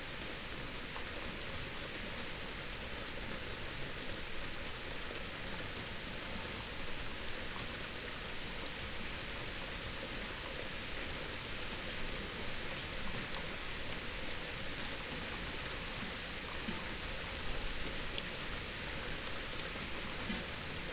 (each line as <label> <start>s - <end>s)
summer rain 0.0s - 20.9s